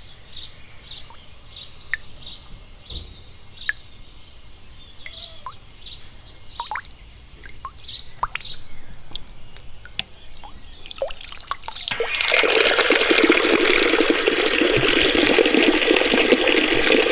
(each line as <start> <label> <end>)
0.0 birds 12.3
0.0 water drops coming from a public tap 17.1